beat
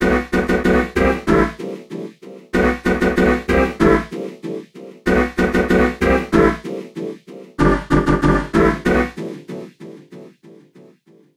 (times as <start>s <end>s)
2.6s 10.3s